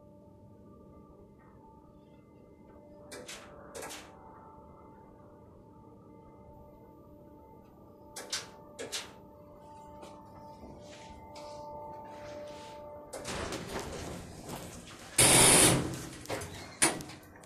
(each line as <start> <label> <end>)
12.0 elevator 17.4
13.1 Elevator Door Broken 17.4